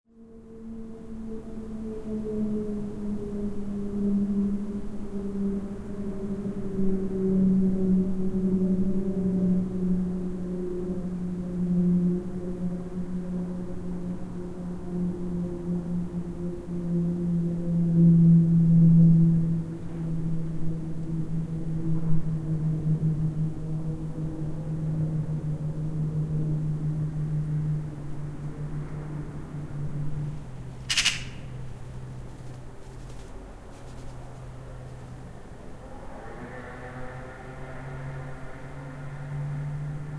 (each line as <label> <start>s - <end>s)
wind 0.1s - 40.1s
Pilatus PC21 planes training 0.7s - 40.1s
bird 30.8s - 34.4s